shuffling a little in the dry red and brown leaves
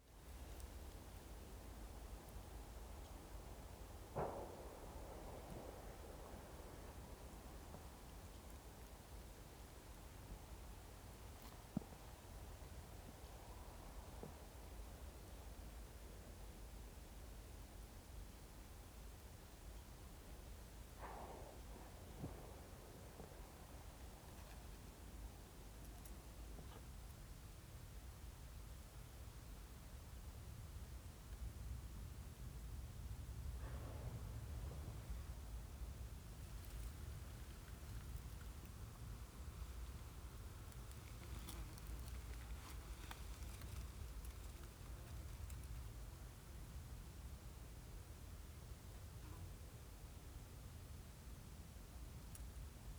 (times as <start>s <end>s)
36.5s 46.1s